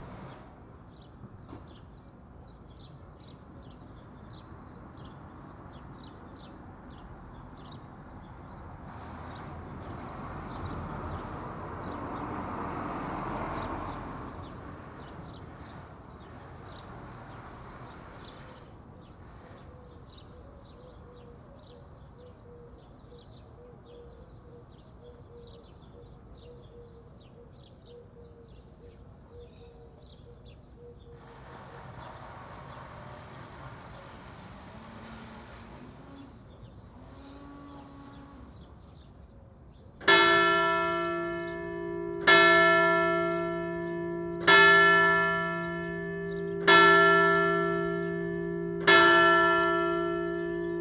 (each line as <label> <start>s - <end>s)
cars 3.6s - 20.2s
birds 13.4s - 50.8s
cars 31.2s - 37.4s
cars 40.0s - 50.8s
Bells 40.0s - 50.8s